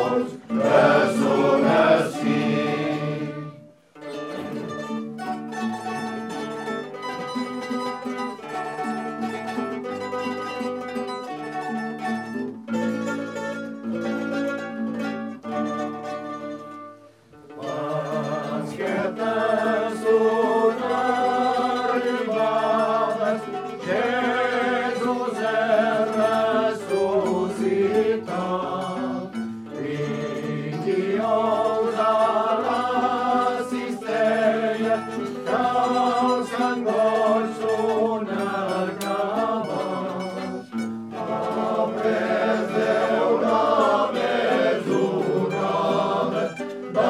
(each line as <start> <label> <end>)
0.0 hymns sung by male choirs 3.7
17.6 hymns sung by male choirs 47.0